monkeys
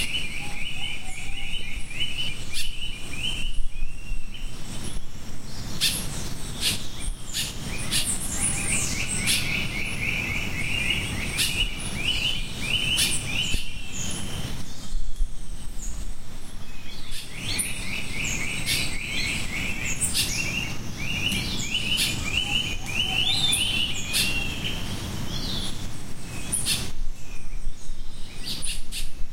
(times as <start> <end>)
5.8 11.8